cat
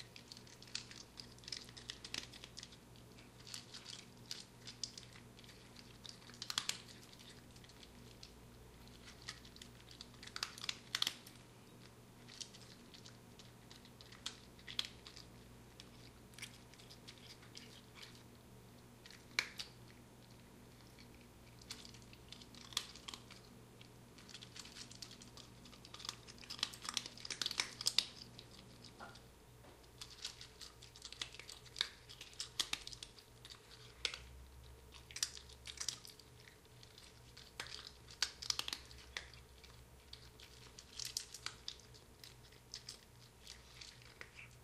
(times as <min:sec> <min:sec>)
0:42.4 0:44.6